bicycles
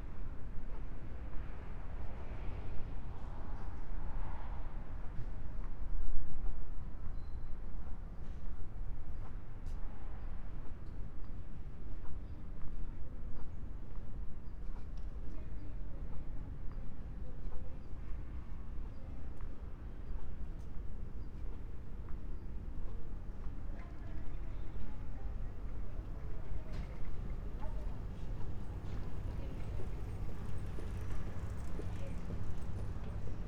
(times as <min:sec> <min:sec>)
0:26.8 0:33.4